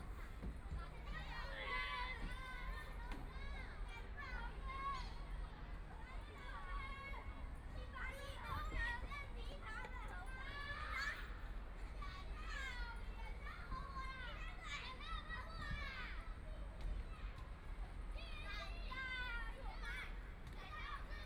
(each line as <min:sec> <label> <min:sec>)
0:00.0 Students in the game area 0:21.2